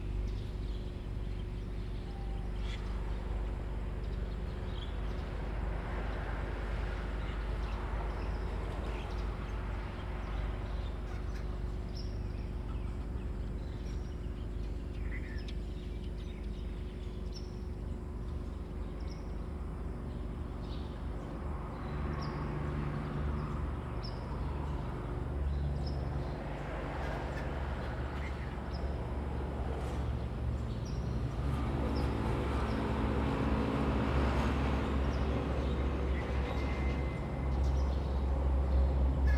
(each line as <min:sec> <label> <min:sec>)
0:00.0 Birdsong 0:39.3
0:17.6 Traffic Sound 0:39.3